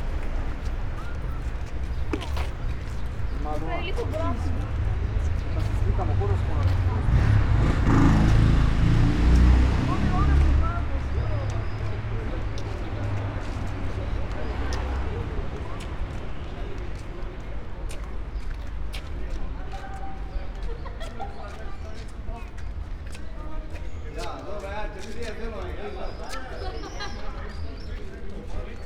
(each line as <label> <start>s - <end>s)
steps 0.0s - 8.5s